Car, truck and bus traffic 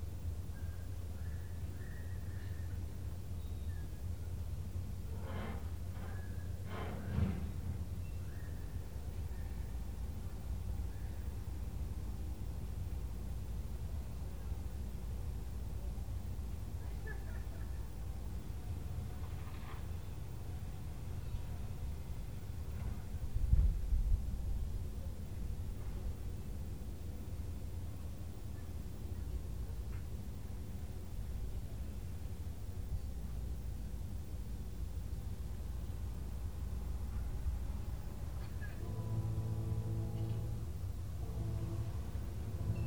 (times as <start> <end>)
36.0 42.8